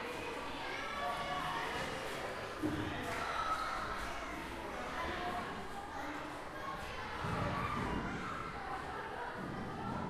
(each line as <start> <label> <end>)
0.0 Crowd of younger pupils 10.0